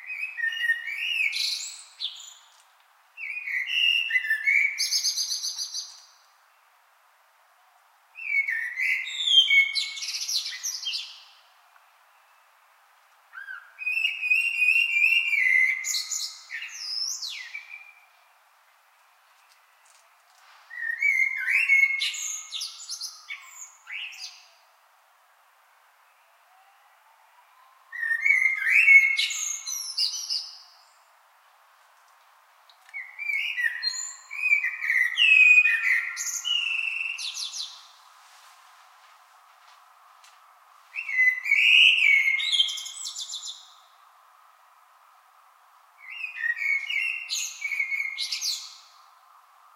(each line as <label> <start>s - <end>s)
male blackbird singing 0.0s - 2.5s
male blackbird singing 3.2s - 6.1s
male blackbird singing 8.2s - 12.4s
male blackbird singing 13.4s - 18.2s
streetnoise 18.1s - 21.2s
male blackbird singing 20.7s - 24.5s
male blackbird singing 27.9s - 31.0s
male blackbird singing 32.9s - 38.0s
streetnoise 36.6s - 41.8s
male blackbird singing 41.0s - 43.8s
male blackbird singing 46.0s - 48.9s